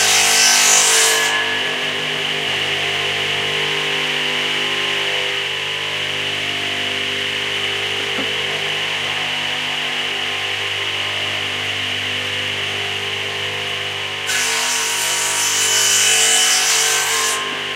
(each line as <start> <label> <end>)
0.0 Circular saw crosscutting 4.5
14.2 Circular saw crosscutting 17.7